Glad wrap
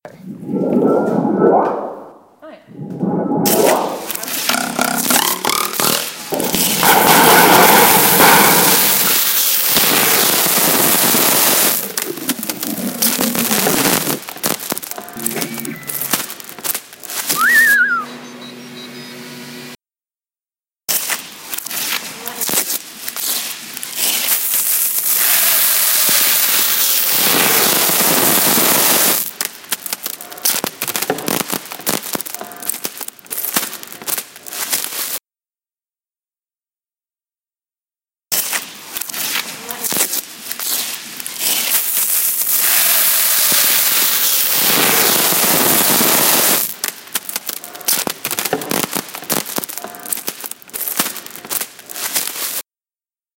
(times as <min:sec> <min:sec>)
0:20.9 0:28.3, 0:38.3 0:52.6